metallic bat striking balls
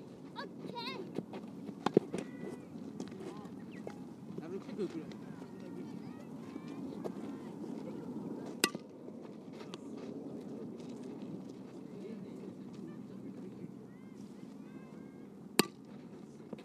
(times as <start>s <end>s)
8.6s 8.9s, 15.6s 15.9s